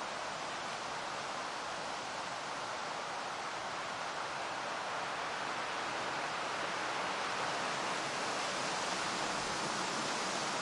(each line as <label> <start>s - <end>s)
wind through trees heavy white noisy 0.0s - 10.6s